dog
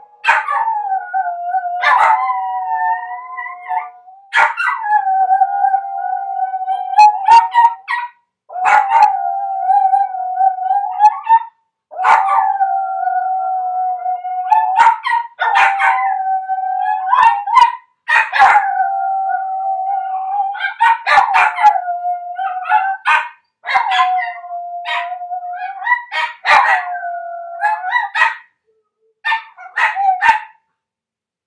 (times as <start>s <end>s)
20.6s 21.6s, 22.6s 24.1s, 29.3s 30.6s